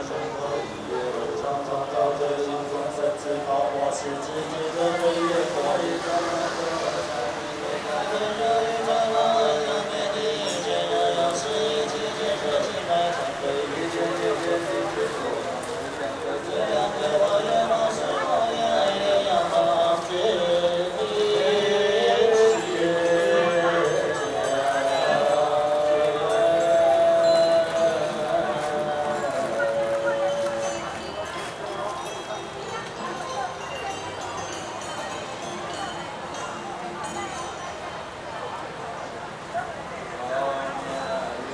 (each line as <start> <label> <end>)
0.0 Singing 41.5